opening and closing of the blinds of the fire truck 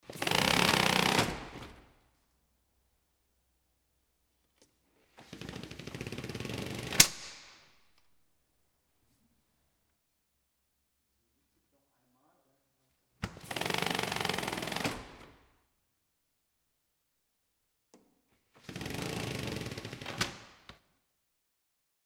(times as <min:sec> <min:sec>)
0:00.0 0:01.8, 0:05.0 0:07.2, 0:18.5 0:20.7